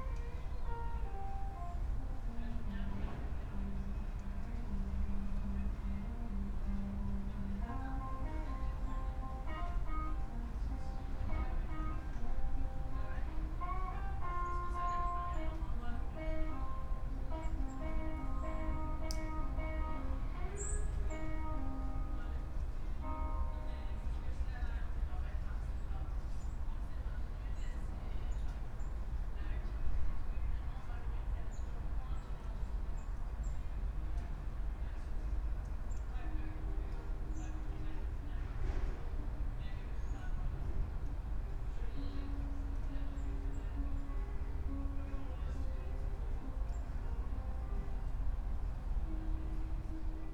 guitar player practising 0.0 - 24.1

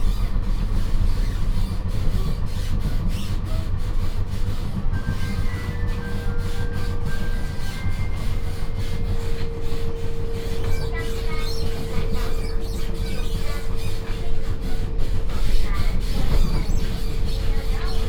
Union train compartment 0.0 - 18.0

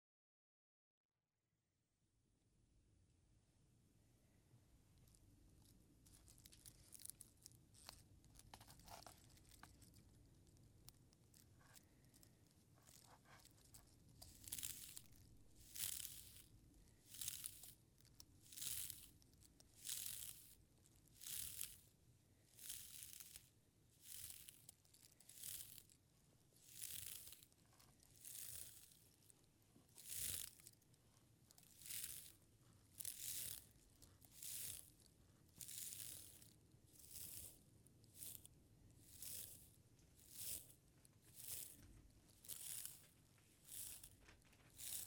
Carding wool fibres with a teasel 4.9 - 45.0

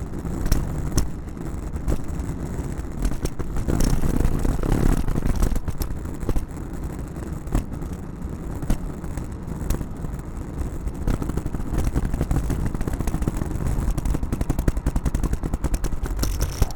Luggage Bag Drag 16.0 - 16.7

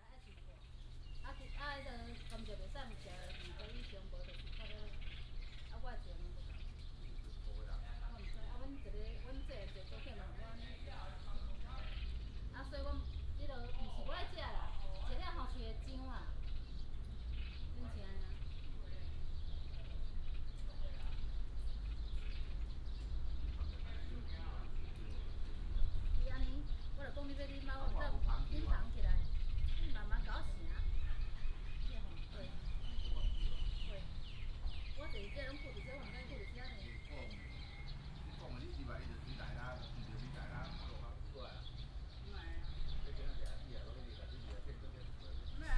birds sound 0.0 - 45.7
traffic sound 30.3 - 45.6

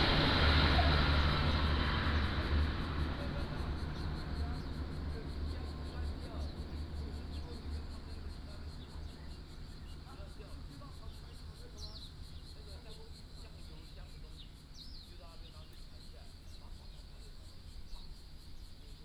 Crowing sound 0.0 - 4.4
Train traveling through 0.0 - 11.1
aircraft flying 0.0 - 12.9
Traffic Sound 0.0 - 12.9
Birdsong 0.0 - 19.0

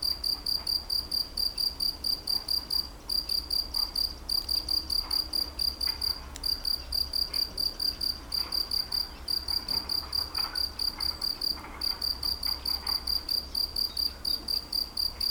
Locust singing in the grass 12.2 - 15.3

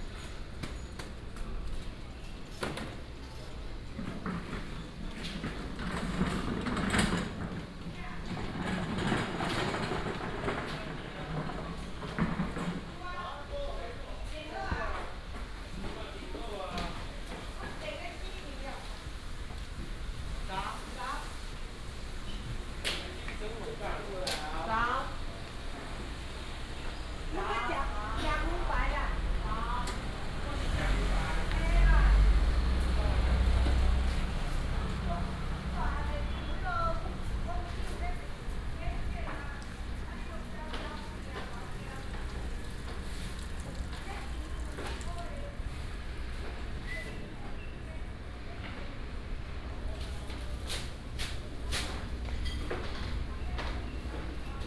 Traffic sound 17.1 - 54.6

